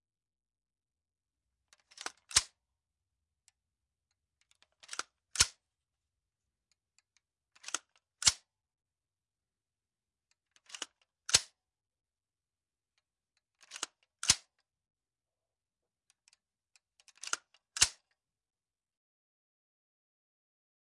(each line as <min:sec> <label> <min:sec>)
0:01.8 M16 bolt action 0:02.6
0:04.6 M16 bolt action 0:05.6
0:07.6 M16 bolt action 0:08.4
0:13.6 M16 bolt action 0:14.5
0:17.0 M16 bolt action 0:18.1